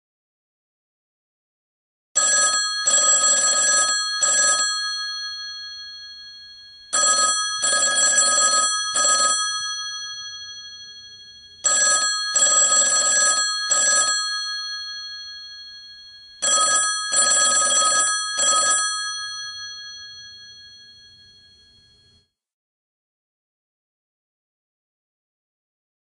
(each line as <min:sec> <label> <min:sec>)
0:02.2 Legacy ringtone 0:22.2